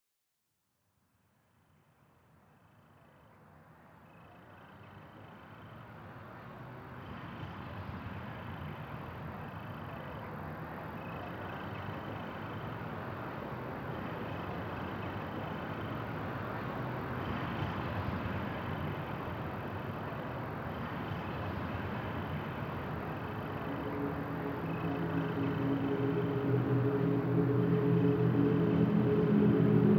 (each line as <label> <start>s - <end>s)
drone 7.2s - 29.9s
synth 20.8s - 29.9s
pads 21.5s - 29.9s